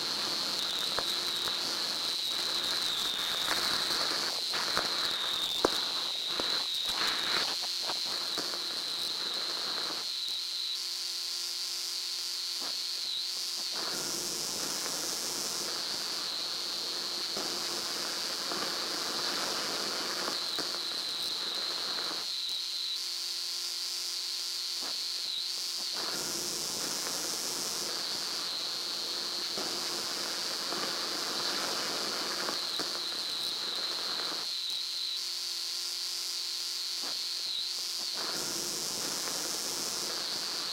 0.0s radio static 10.0s

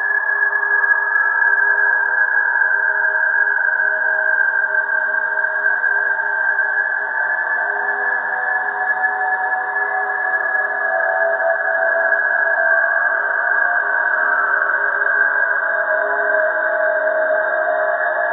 0.0s slowly evolving ambient drone pad 18.3s

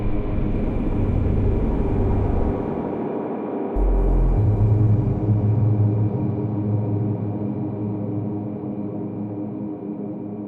3.8s synth percussion 6.0s

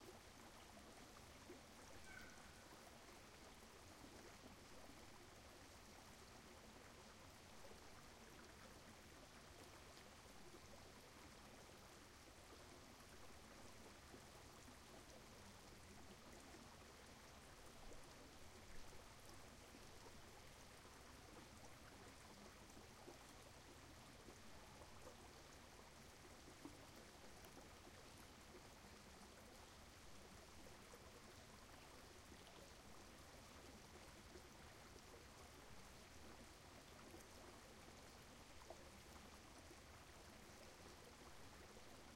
0.0s STREAM 42.1s

